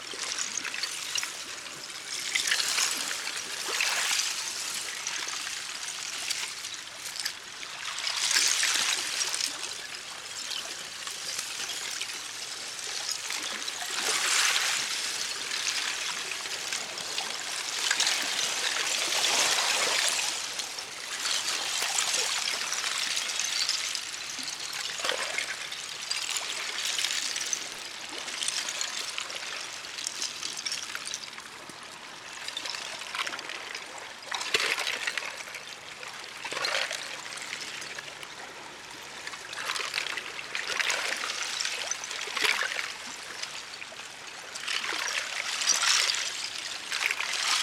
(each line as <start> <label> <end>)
0.1 Ice pieces clinking on gentle waves 47.6